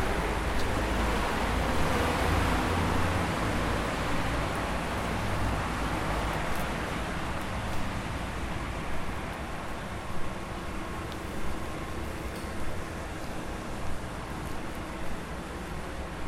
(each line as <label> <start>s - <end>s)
Late night walk 0.0s - 16.2s